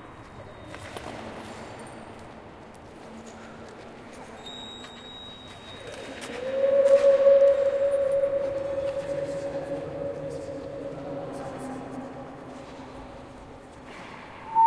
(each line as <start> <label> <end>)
0.0 echos in a dome 14.6
5.9 people playing with this spatial situation 13.0